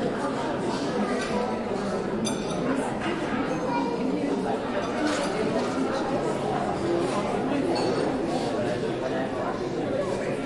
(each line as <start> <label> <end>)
3.0 children 4.4